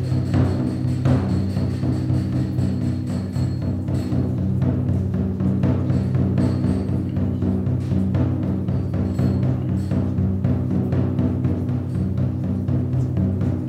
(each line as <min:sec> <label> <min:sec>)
0:00.0 drumming 0:13.6
0:01.2 passersby walking past 0:13.6